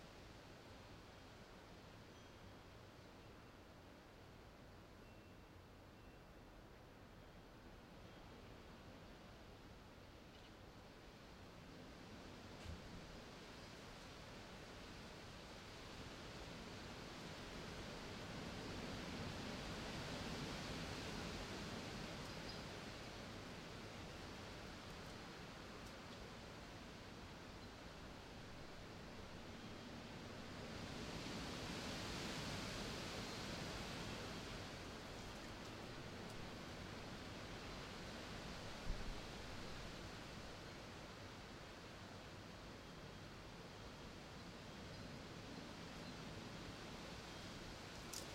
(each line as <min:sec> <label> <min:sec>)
0:00.0 wind 0:48.3
0:19.5 leaves rustling on the ground 0:41.1
0:47.0 leaves rustling on the ground 0:48.3